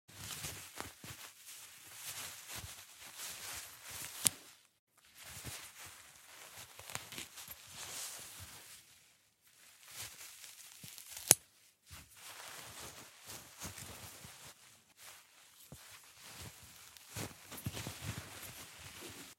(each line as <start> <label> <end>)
0.1 Cloth movements 19.3